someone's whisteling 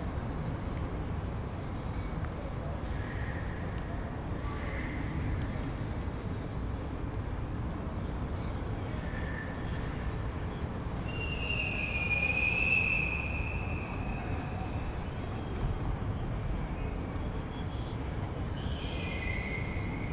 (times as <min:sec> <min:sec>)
0:11.1 0:14.7